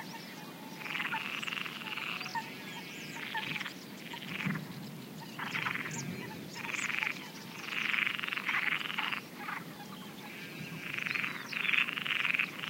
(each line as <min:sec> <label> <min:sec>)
0:00.0 frog calls 0:12.6
0:00.8 Mallard 0:04.6
0:05.3 Mallard 0:12.6